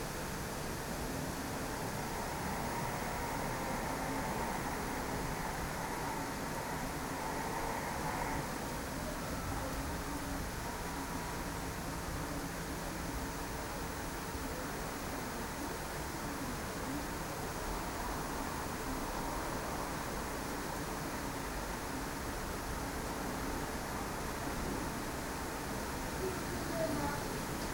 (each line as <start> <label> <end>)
0.0 started to rain 27.7